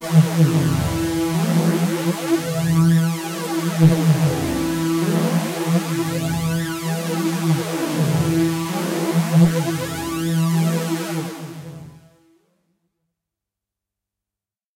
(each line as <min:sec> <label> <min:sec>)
0:03.9 hard lead sound with added harshness 0:05.7